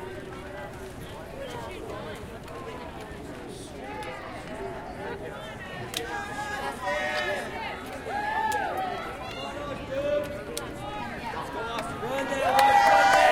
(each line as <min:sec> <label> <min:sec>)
0:12.2 indoor crowd that breaks into loud cheers 0:13.3